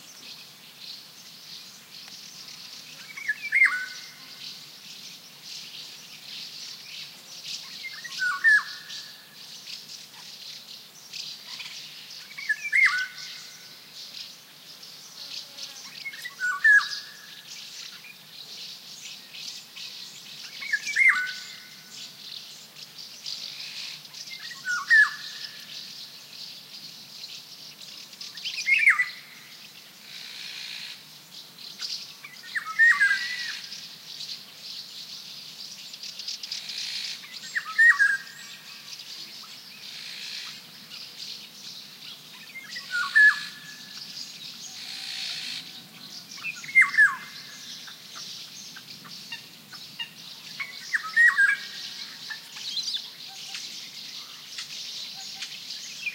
chirps of House Martins 0.0 - 56.1
flute-like, mysterious singing of one Golden Oriole 3.0 - 4.6
flute-like, mysterious singing of one Golden Oriole 6.5 - 9.4
flute-like, mysterious singing of one Golden Oriole 11.4 - 13.8
flute-like, mysterious singing of one Golden Oriole 15.8 - 18.2
flute-like, mysterious singing of one Golden Oriole 19.1 - 22.2
flute-like, mysterious singing of one Golden Oriole 23.4 - 26.2
flute-like, mysterious singing of one Golden Oriole 28.3 - 29.6
flute-like, mysterious singing of one Golden Oriole 31.9 - 35.5
flute-like, mysterious singing of one Golden Oriole 36.6 - 56.1

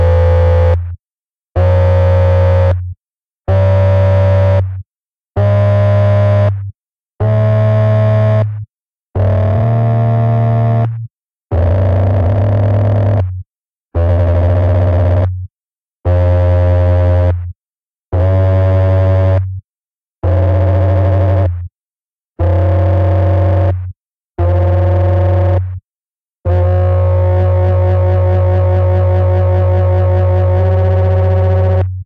sub-oscillator 26.5 - 31.8

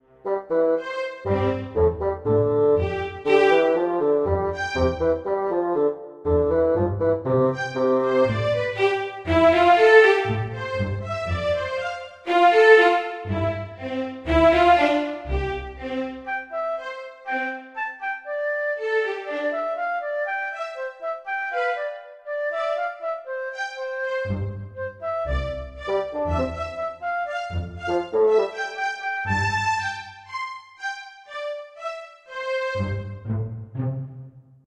musical motifs 0.0 - 34.5

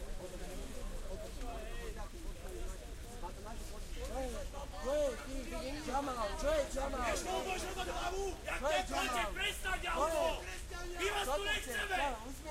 police 0.0 - 12.5
protest 4.4 - 12.5

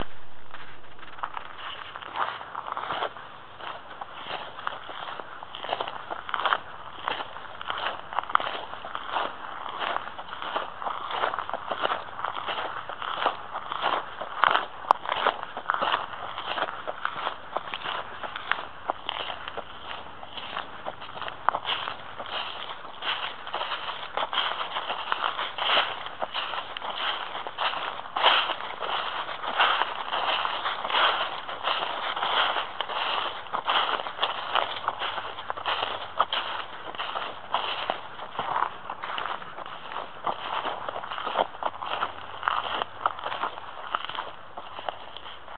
Footstep sound on gravel road with dried leaves 0.0 - 45.5

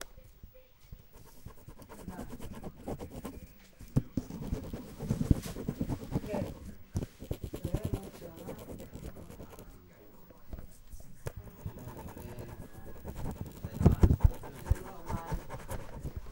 paper on paper 1.1 - 3.4
paper on paper 4.2 - 9.7
paper on paper 11.3 - 16.3

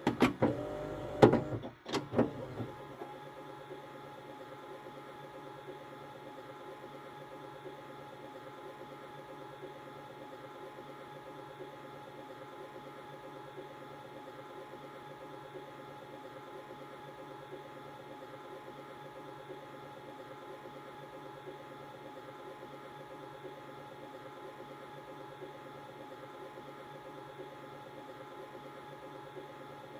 VCR rewinding a VHS tape 0.0 - 8.1

